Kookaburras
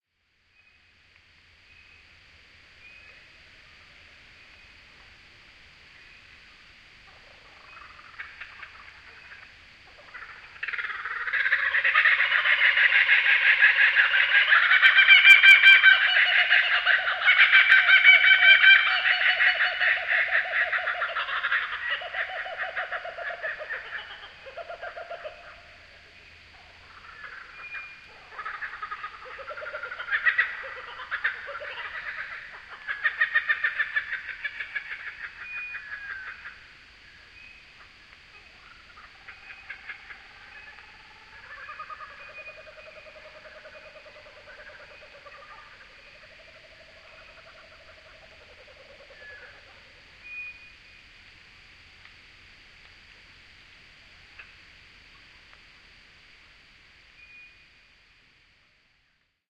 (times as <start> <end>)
7.0 50.5